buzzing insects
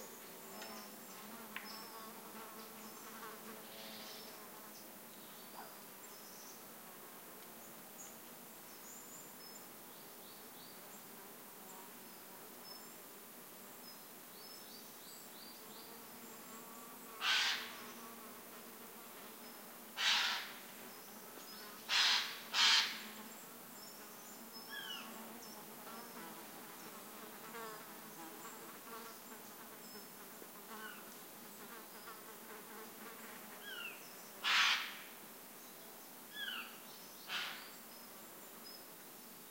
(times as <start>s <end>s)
15.5s 35.2s